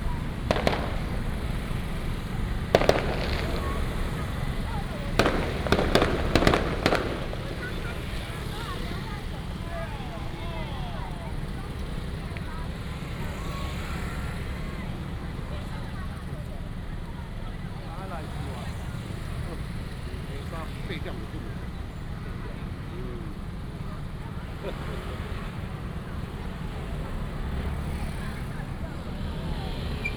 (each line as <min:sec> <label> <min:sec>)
0:00.0 Firecrackers and fireworks 0:16.8
0:00.0 Many people gathered at the intersection 0:30.1
0:18.0 Firecrackers and fireworks 0:30.1